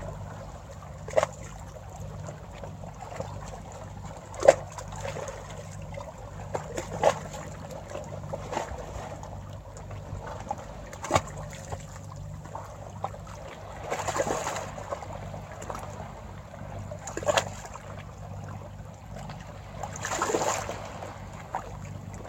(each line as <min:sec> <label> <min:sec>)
0:00.0 soft waves 0:22.2